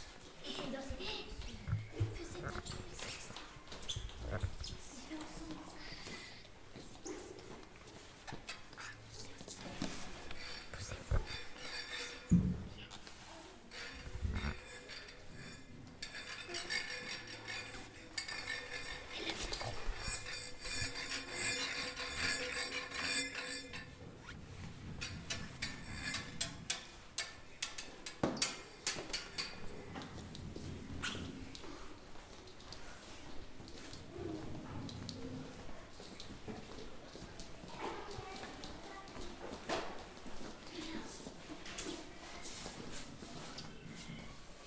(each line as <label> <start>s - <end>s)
Children cooking 0.0s - 44.6s